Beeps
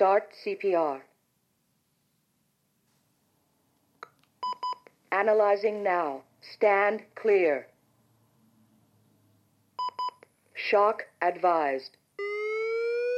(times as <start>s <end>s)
4.4s 4.9s, 9.8s 10.2s